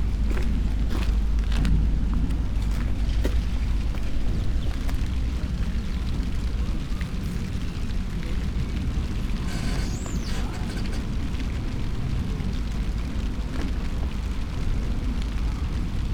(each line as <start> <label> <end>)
0.0 rain 16.1
0.0 river ships 16.1